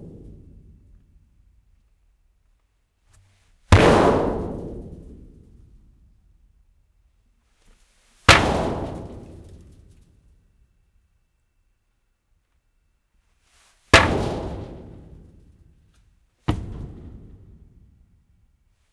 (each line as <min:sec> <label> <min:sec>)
0:00.0 metal thuds kicks resonant 0:01.2
0:03.7 metal thuds kicks resonant 0:05.8
0:08.3 metal thuds kicks resonant 0:09.9
0:14.0 metal thuds kicks resonant 0:15.5
0:16.5 metal thuds kicks resonant 0:18.2